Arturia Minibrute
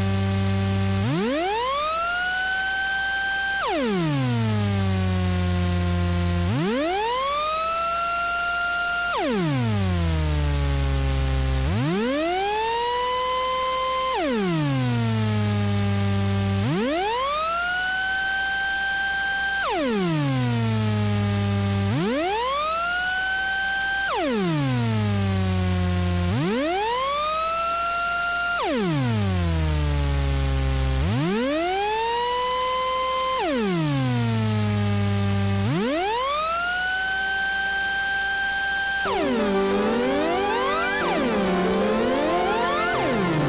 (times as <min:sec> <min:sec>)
0:35.6 0:43.4